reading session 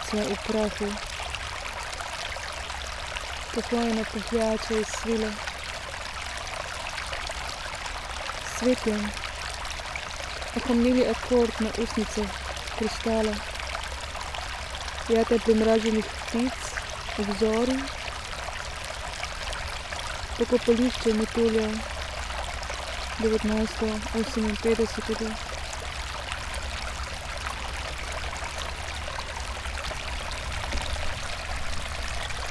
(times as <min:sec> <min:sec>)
0:23.2 0:25.4